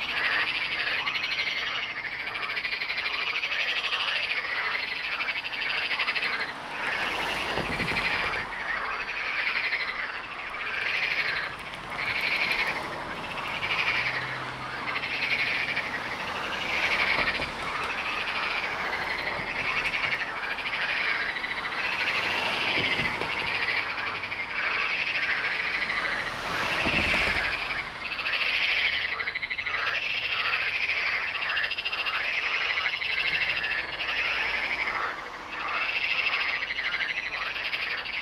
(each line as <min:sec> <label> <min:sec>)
0:00.0 Frogs 0:38.2
0:00.0 cars passing by 0:38.2